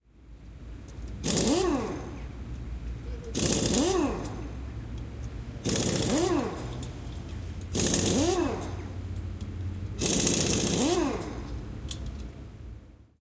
Impact wrench working 0:01.2 - 0:02.2
Impact wrench working 0:03.3 - 0:04.6
Impact wrench working 0:05.2 - 0:12.2

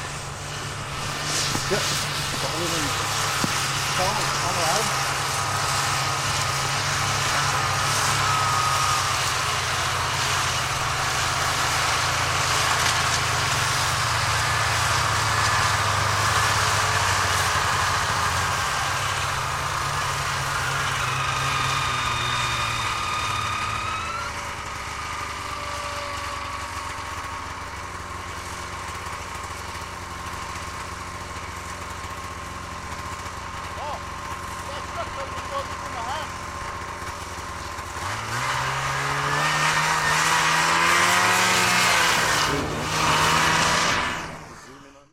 snowmobiles pull up nearby and drive around 0:00.0 - 0:45.1

